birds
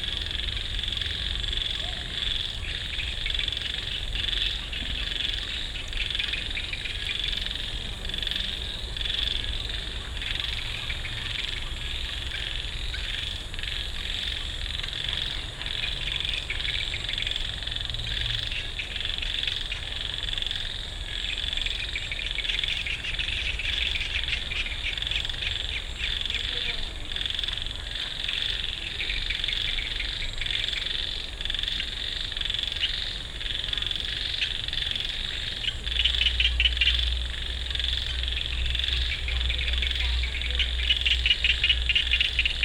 0:21.1 0:42.6

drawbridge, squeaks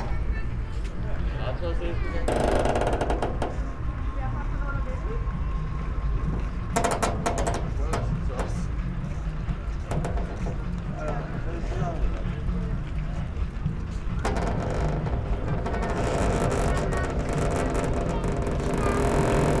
0:02.0 0:03.9, 0:13.1 0:19.6

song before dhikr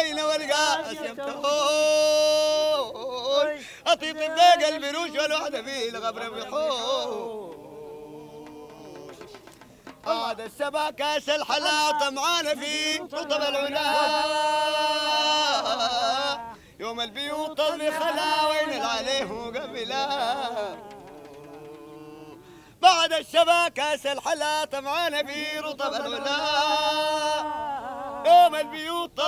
0:00.0 0:23.2

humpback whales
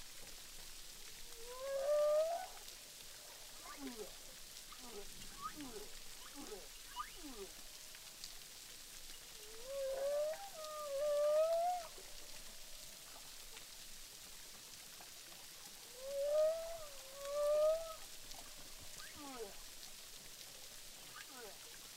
0:01.4 0:02.6

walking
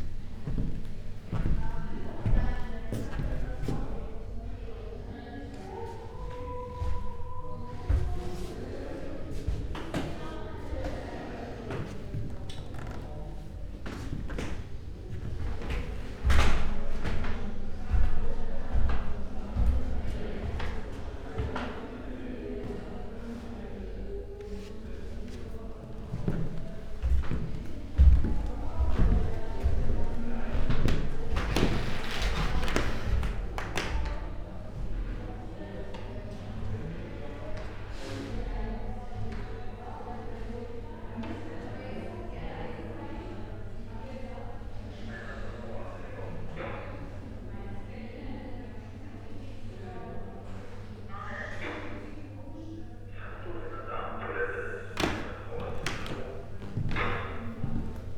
0:00.0 0:03.9, 0:24.3 0:33.5, 0:55.1 0:58.1

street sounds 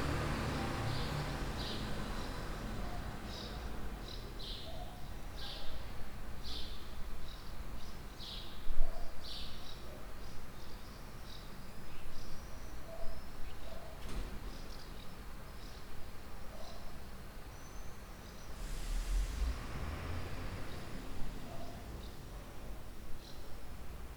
0:00.0 0:04.5, 0:18.4 0:24.1

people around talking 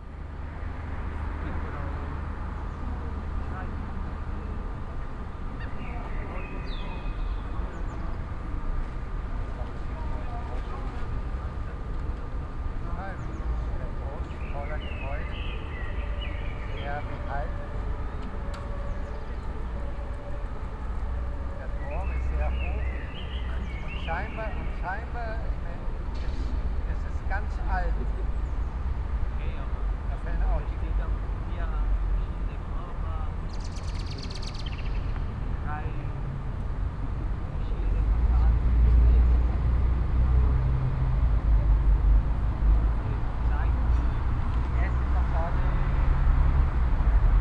0:01.3 0:28.6, 0:42.9 0:46.1

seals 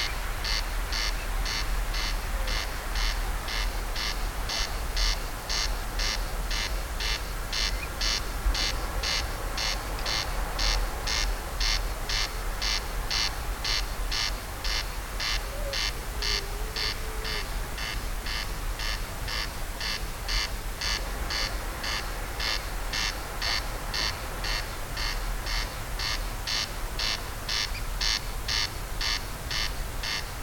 0:15.2 0:19.4

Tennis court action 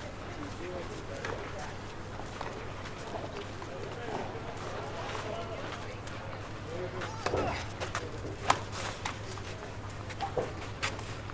0:02.4 0:11.3

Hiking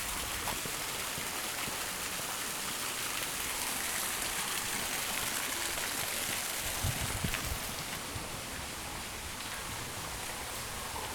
0:03.5 0:11.1

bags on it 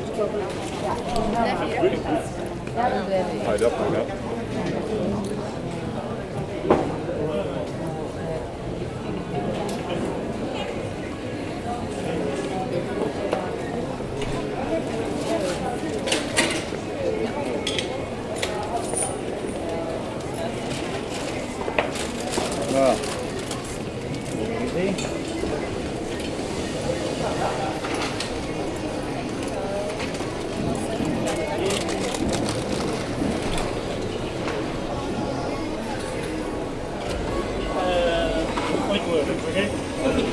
0:20.6 0:24.6, 0:30.0 0:33.9

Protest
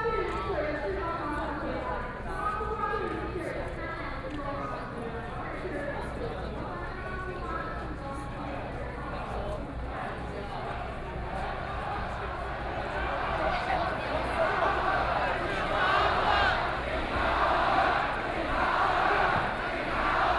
0:10.8 0:20.3

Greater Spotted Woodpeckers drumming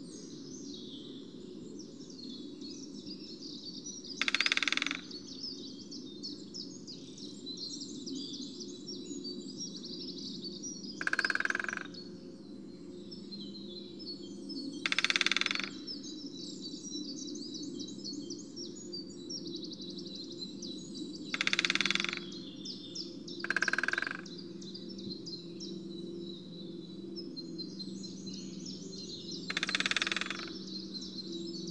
0:04.2 0:05.2, 0:11.0 0:12.0, 0:14.8 0:15.8, 0:21.3 0:22.3, 0:23.4 0:24.3, 0:29.2 0:30.9

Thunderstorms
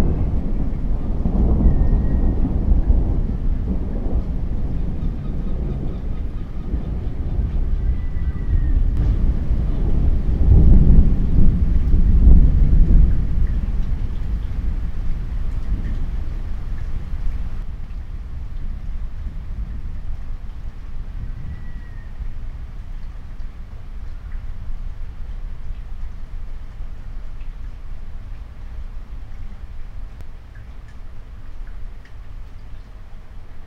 0:00.0 0:22.8

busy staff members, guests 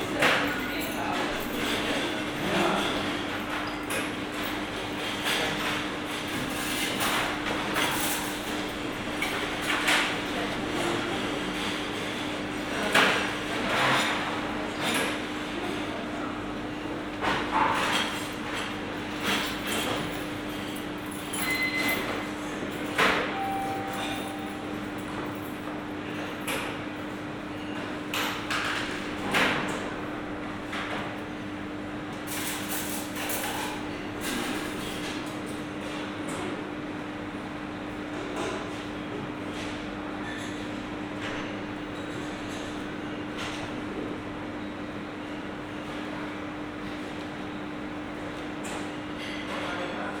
0:00.0 0:08.4, 0:21.4 0:25.8

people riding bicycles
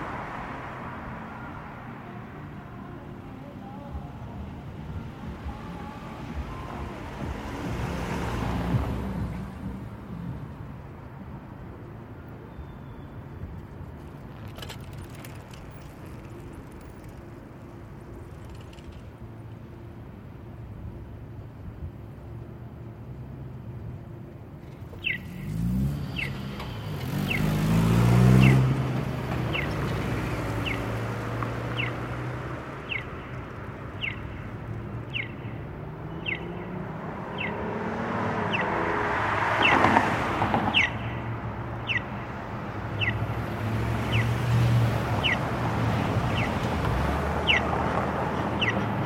0:00.0 0:36.8

